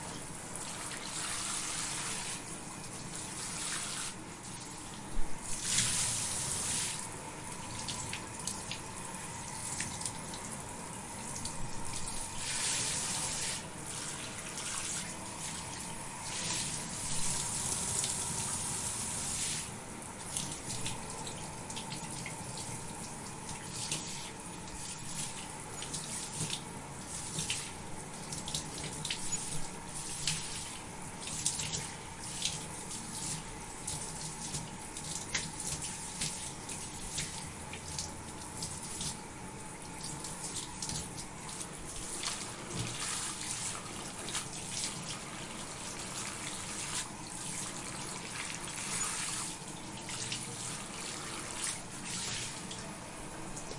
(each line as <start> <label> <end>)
0.0 someone taking a shower 53.7